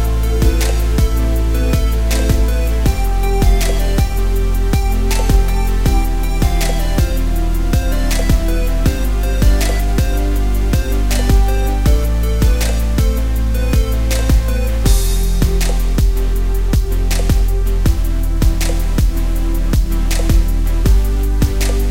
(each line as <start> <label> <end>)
0.0 Beat Background Music 21.9